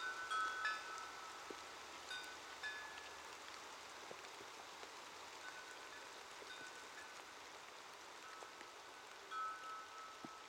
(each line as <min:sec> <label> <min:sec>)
0:00.0 chimes 0:01.5
0:02.1 chimes 0:03.2
0:05.4 chimes 0:07.1
0:09.3 chimes 0:10.4